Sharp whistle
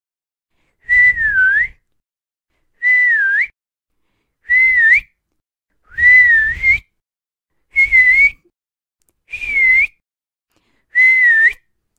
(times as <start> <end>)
0.8 1.8, 2.8 3.5, 4.4 5.2, 5.9 7.0, 7.7 8.5, 9.3 10.0, 10.9 11.7